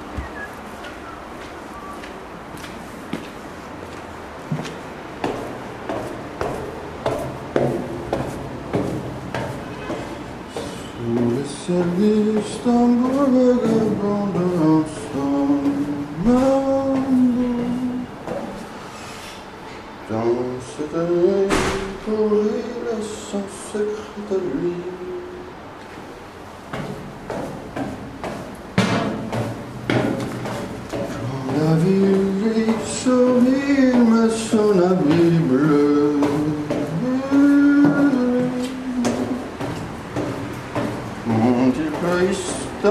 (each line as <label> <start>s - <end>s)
Wind 0.0s - 42.9s
who whistles 0.1s - 2.0s